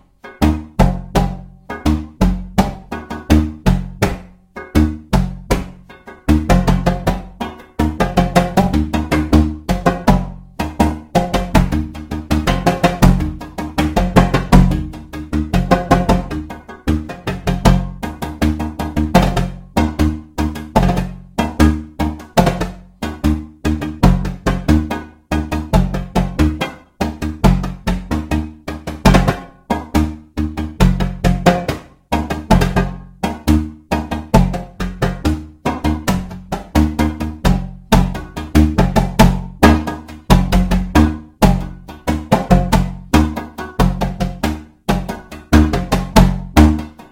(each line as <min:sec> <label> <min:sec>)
0:00.0 Two djembes played by myself improvisationally 0:47.1